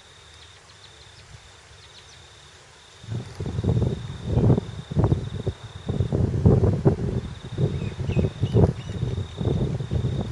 0.0s birds 3.0s
0.0s crickets 10.3s
3.0s wind noise 10.3s
7.2s birds 10.3s

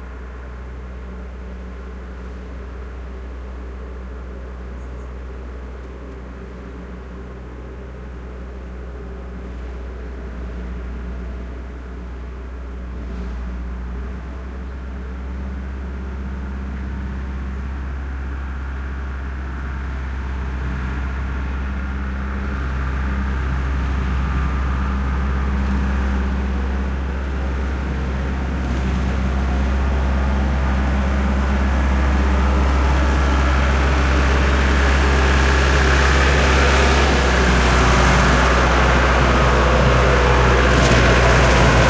0.0s tractor on rough terrain 41.8s

